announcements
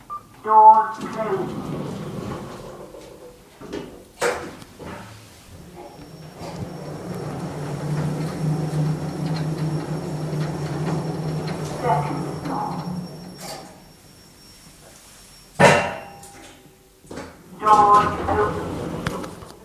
0.0s 2.6s, 5.6s 14.6s, 17.5s 19.0s

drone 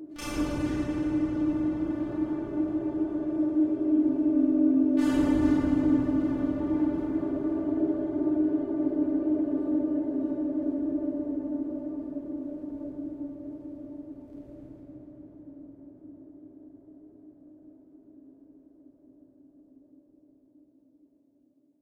0.0s 15.1s

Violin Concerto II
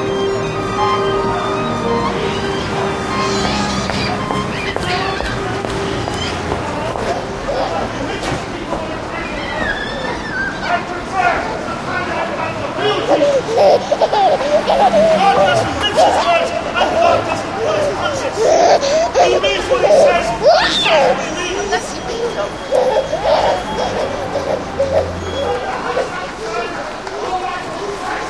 0.0s 4.7s

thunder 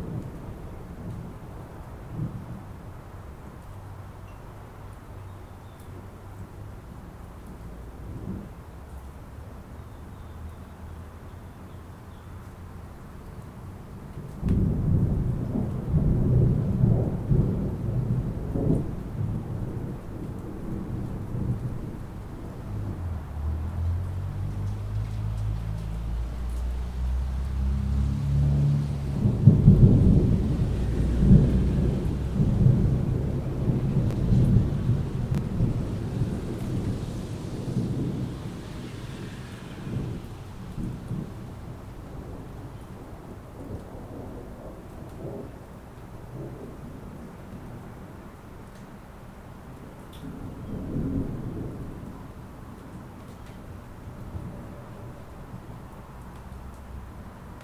0.0s 2.7s, 14.4s 47.8s, 50.2s 53.6s

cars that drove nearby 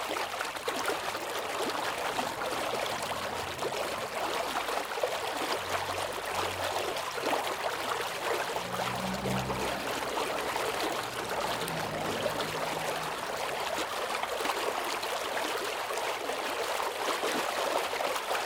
0.7s 15.4s

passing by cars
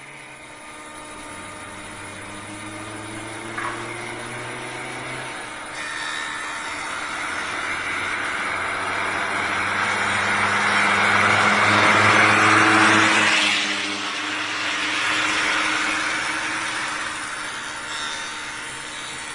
1.1s 5.7s, 6.9s 17.6s

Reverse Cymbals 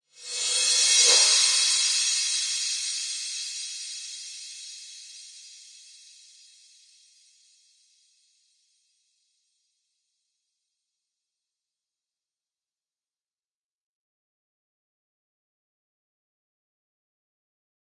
0.0s 8.0s

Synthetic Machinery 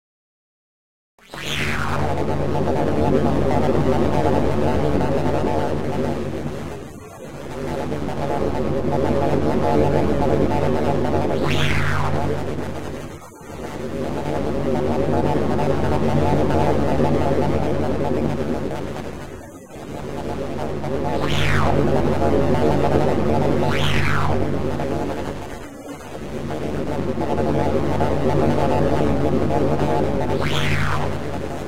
6.8s 31.6s

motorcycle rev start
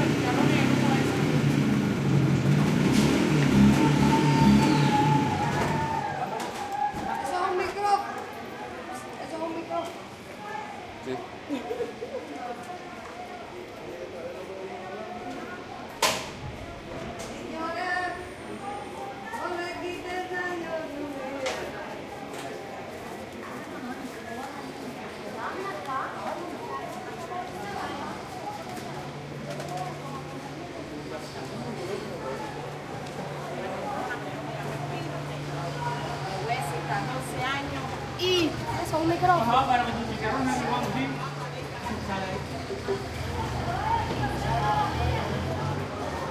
0.0s 6.0s

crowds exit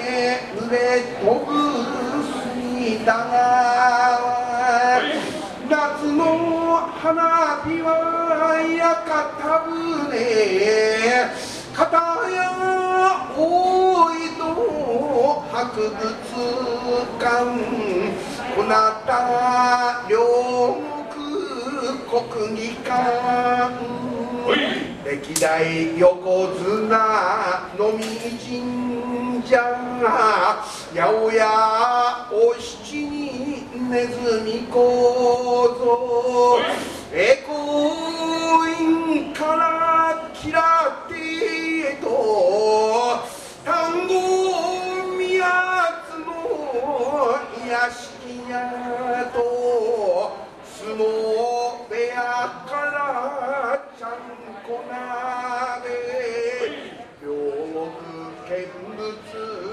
0.0s 7.5s, 10.2s 20.5s, 36.3s 42.3s, 48.2s 52.8s

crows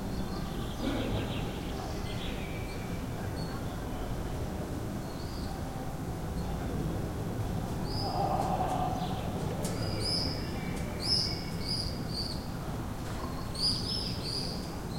8.0s 9.3s

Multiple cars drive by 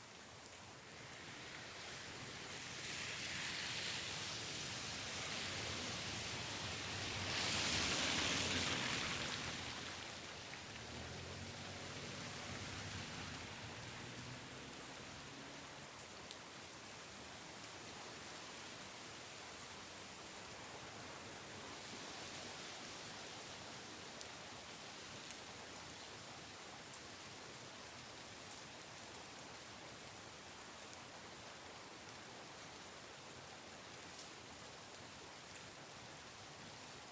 2.6s 16.0s

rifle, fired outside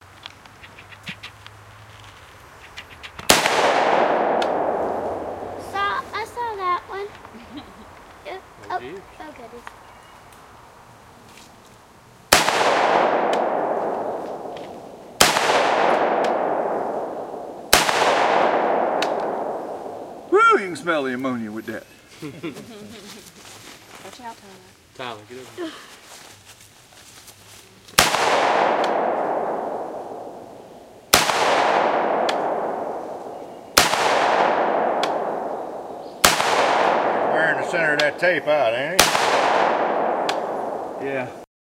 3.2s 5.6s, 12.3s 20.3s, 28.0s 38.2s, 39.0s 41.2s

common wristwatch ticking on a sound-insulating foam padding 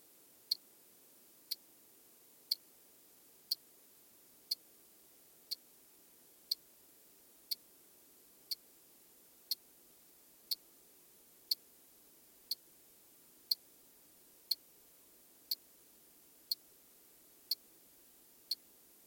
1.5s 1.7s, 2.5s 2.7s, 7.5s 7.7s, 10.5s 10.7s, 12.4s 12.6s, 13.5s 13.7s, 14.5s 14.7s, 15.5s 15.7s, 17.4s 17.7s, 18.4s 18.7s

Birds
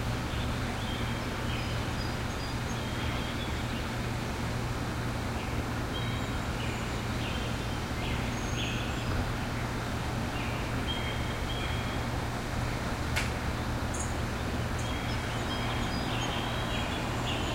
5.3s 12.6s, 13.2s 17.5s

